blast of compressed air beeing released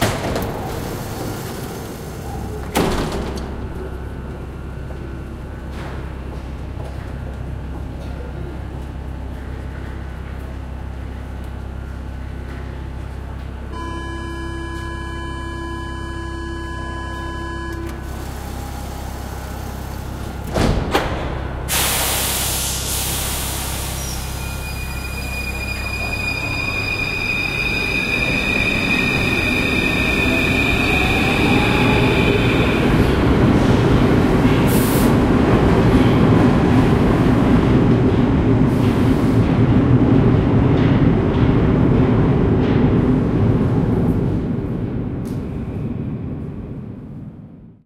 21.7s 24.0s

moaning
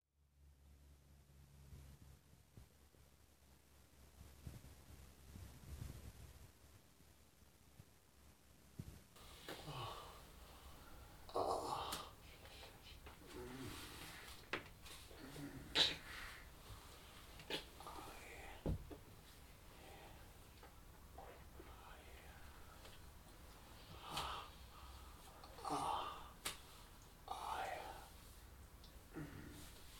11.2s 12.2s, 13.2s 14.3s, 15.1s 16.3s, 25.4s 26.4s

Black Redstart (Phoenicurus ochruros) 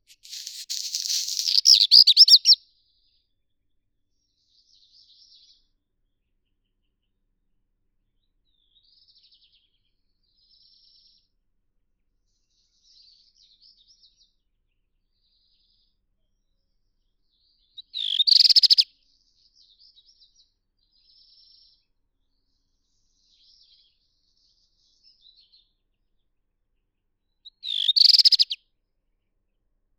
0.0s 2.6s, 27.4s 28.6s

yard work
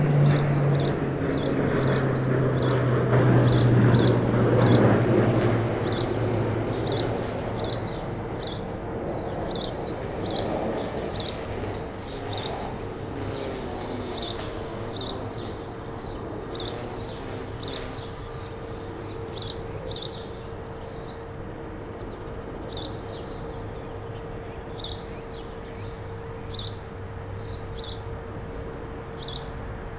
0.0s 19.5s

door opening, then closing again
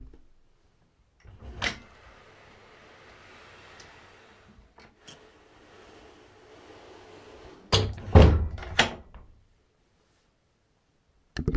1.2s 9.3s

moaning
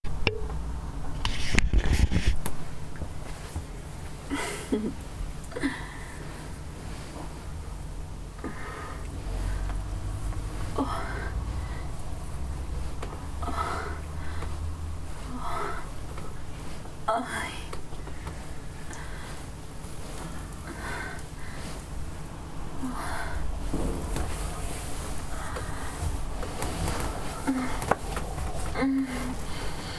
8.4s 16.4s, 22.8s 29.9s

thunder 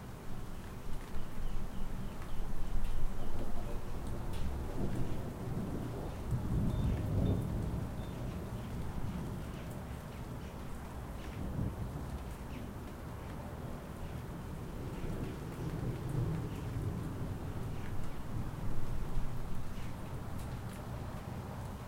4.7s 9.6s, 11.3s 12.1s

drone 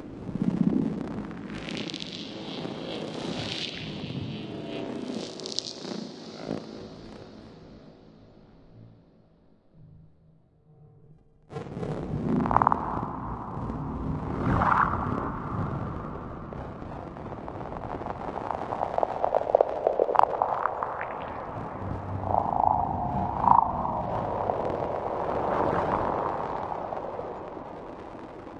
12.0s 28.5s

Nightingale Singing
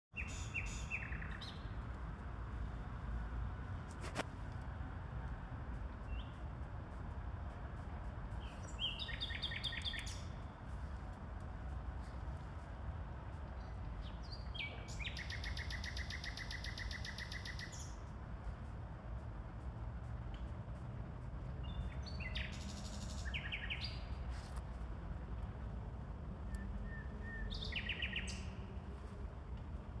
0.2s 1.7s, 8.5s 10.3s, 14.0s 18.0s, 26.5s 28.6s

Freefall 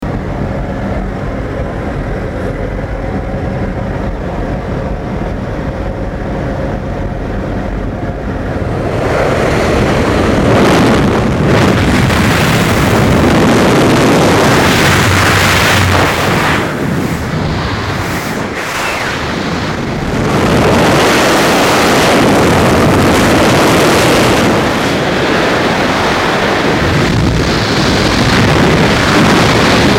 8.8s 29.9s

